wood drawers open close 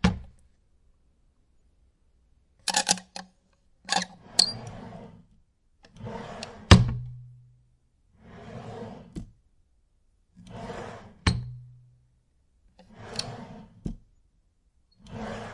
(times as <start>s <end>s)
3.9s 5.2s, 5.9s 7.1s, 8.3s 9.3s, 10.5s 11.5s, 12.9s 14.0s, 15.1s 15.5s